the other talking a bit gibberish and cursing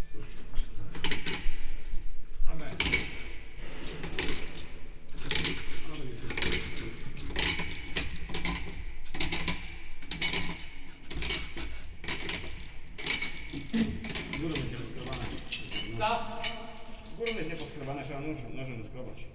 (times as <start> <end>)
13.7 19.2